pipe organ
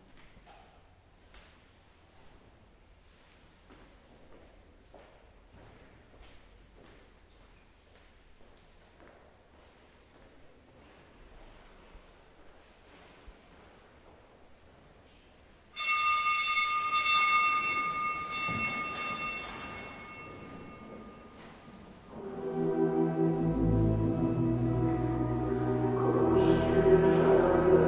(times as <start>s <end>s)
22.1s 27.8s